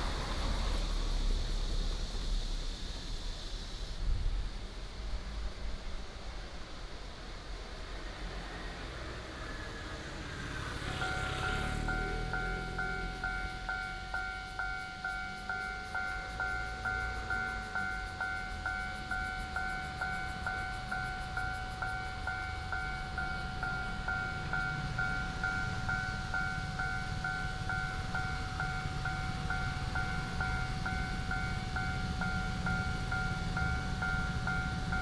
0.0s Railroad Crossing 35.0s
0.0s The train runs through 35.0s
0.0s Traffic sound 35.0s

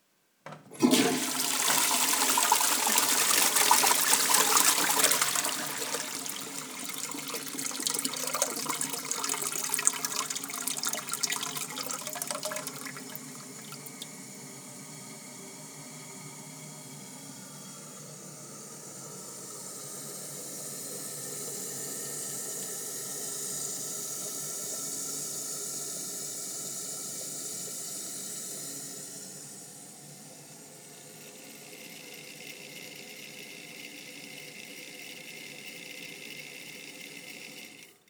0.8s water 14.1s

